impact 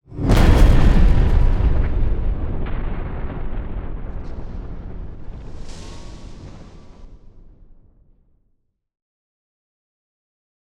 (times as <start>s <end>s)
0.1s 7.8s